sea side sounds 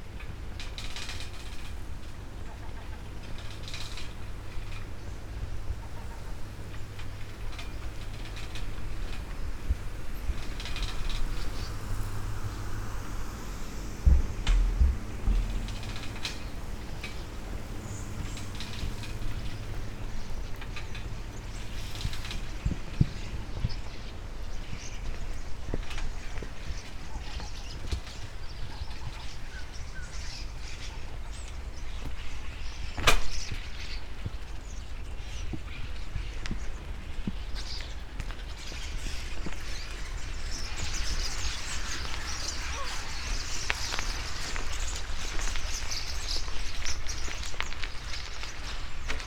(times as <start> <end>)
5.2 24.2